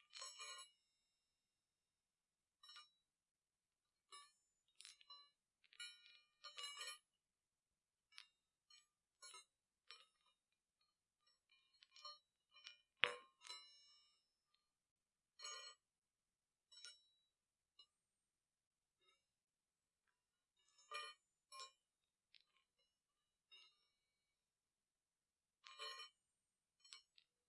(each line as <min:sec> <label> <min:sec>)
0:08.0 Baoding meditation balls with bells inside them 0:16.0
0:16.6 Baoding meditation balls with bells inside them 0:18.0